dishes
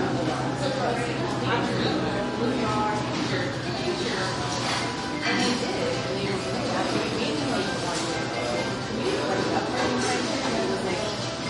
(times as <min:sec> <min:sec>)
0:04.5 0:06.0, 0:09.4 0:11.4